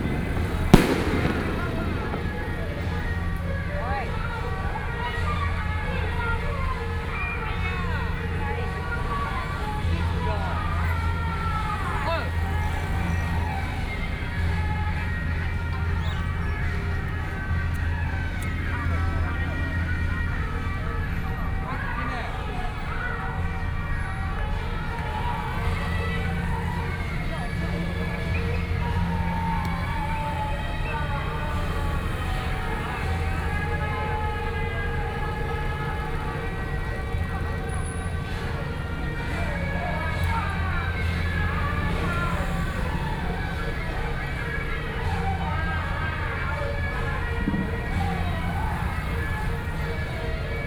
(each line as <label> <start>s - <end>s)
Fireworks sound 0.0s - 4.1s
Traffic Sound 0.0s - 6.8s
Traditional temple festivals 0.0s - 50.6s
Traffic Sound 23.4s - 50.6s